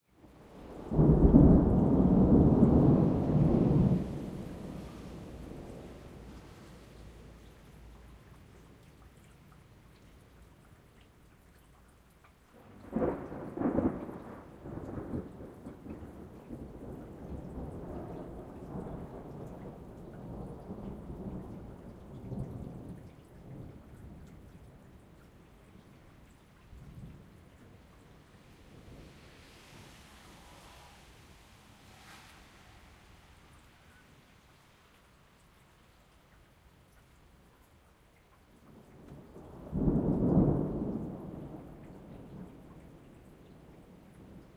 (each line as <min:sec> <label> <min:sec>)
0:00.0 rain 0:44.5
0:00.4 thunder 0:07.2
0:12.6 thunder 0:24.6
0:38.7 thunder 0:44.5